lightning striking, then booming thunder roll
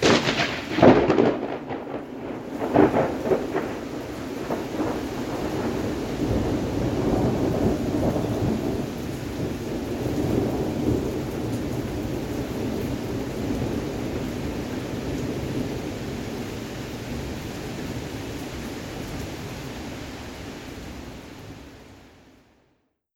0.0 18.1

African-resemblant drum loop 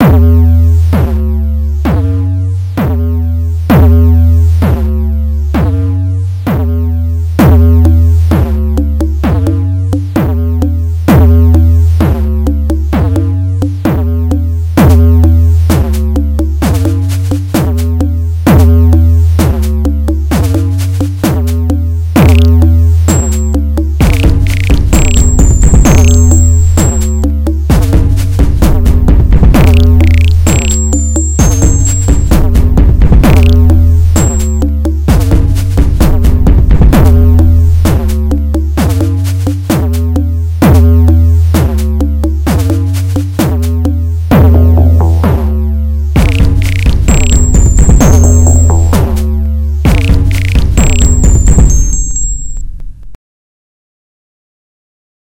7.5 45.3, 46.2 52.2

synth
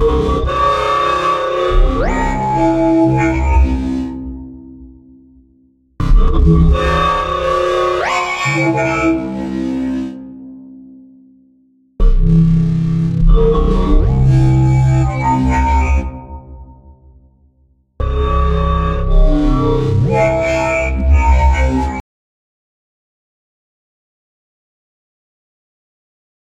0.0 5.2, 18.0 22.0

